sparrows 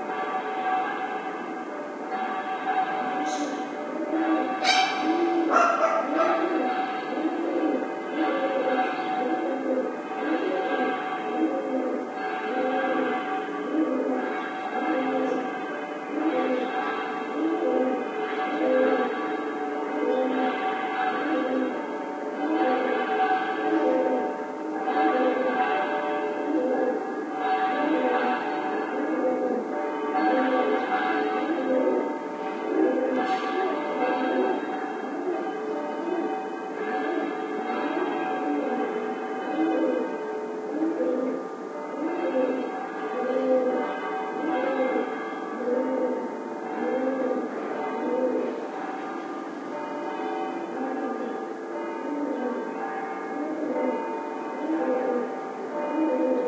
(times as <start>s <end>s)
3.1s 9.5s